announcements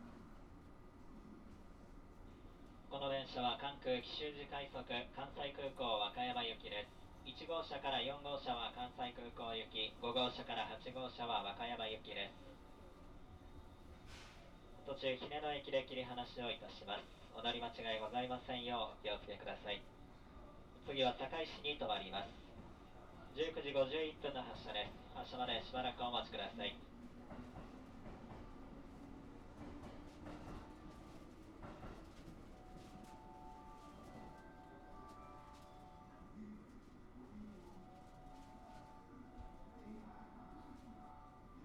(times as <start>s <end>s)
32.5s 41.6s